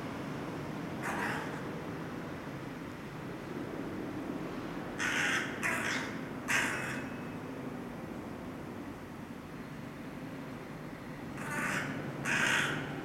1.0s Raven 1.8s
5.0s Raven 7.4s
11.3s Raven 13.0s

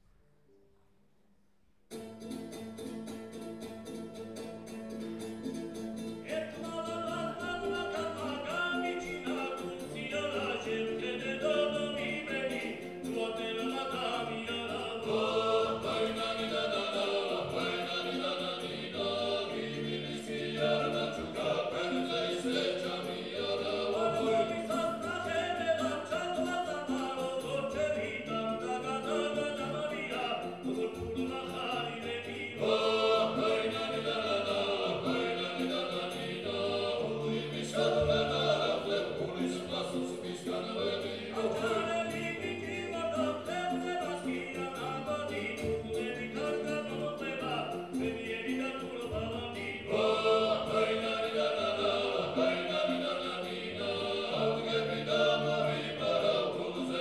1.9s vocal ensemble 57.0s

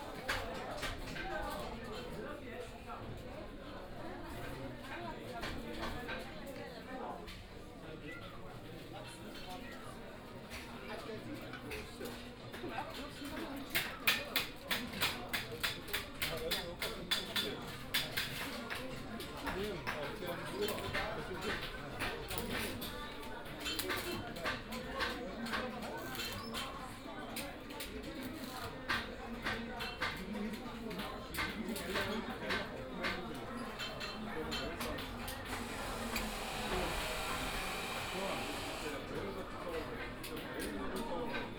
31.3s blacksmith at work 39.3s

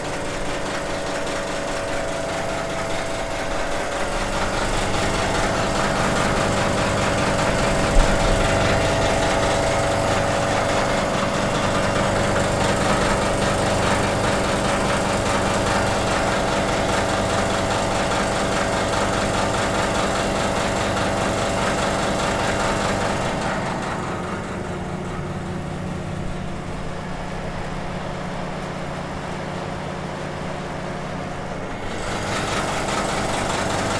0.0s pump noises 33.9s

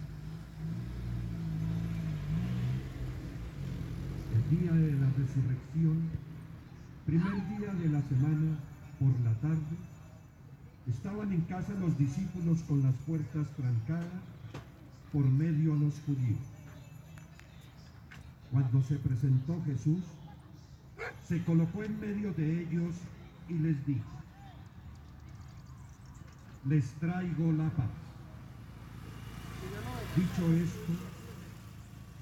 0.0s cars and motorcycles passing by 32.2s
0.0s voices of the people passing by 32.2s
0.0s birds sing in the background 32.2s
7.1s ice cream cart ringing its bell 14.5s
15.1s ice cream cart ringing its bell 24.3s
21.0s dogs barking 21.3s

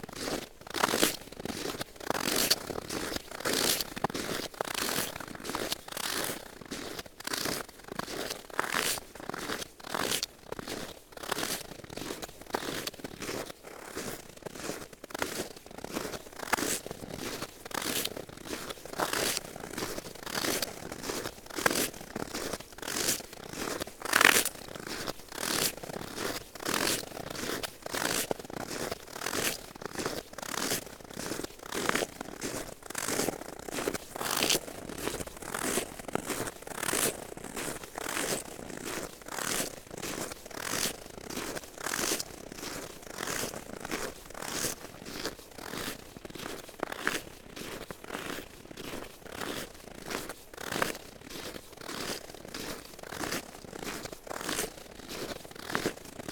0.0s walking on frozen snow and ice 56.3s

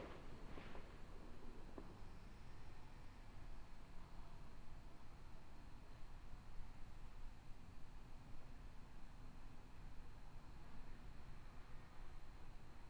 0.0s people shooting off fireworks 0.9s

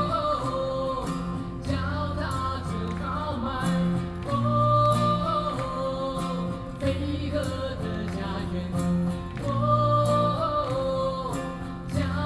0.0s Nuclear protest songs 12.2s

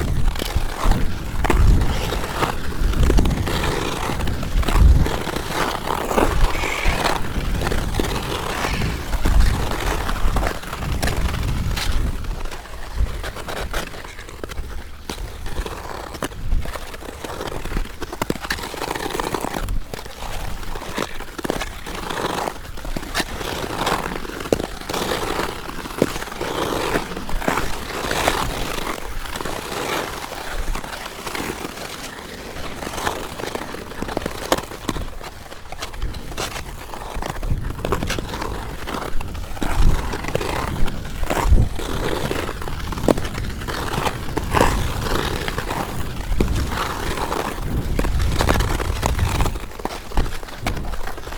0.0s Ice skating 51.3s

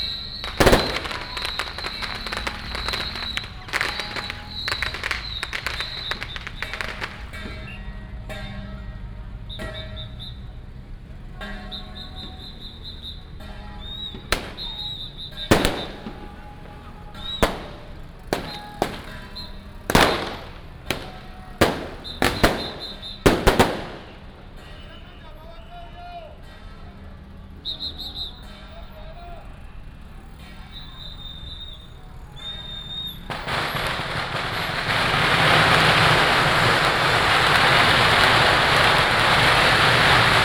0.0s fireworks 7.8s
0.0s Firecrackers 8.5s
0.0s Many people gathered at the intersection 40.4s
9.5s Firecrackers 25.6s
11.5s fireworks 25.2s
29.2s Firecrackers 40.4s
31.0s fireworks 40.4s

